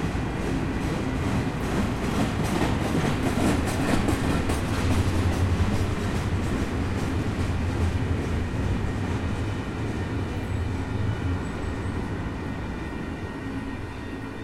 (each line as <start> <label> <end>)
0.0 train going by on tracks 14.4